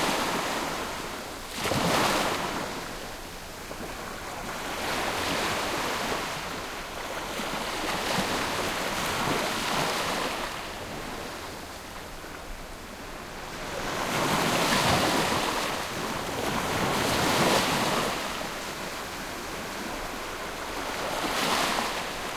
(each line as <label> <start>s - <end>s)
Calm sea waves 0.0s - 22.3s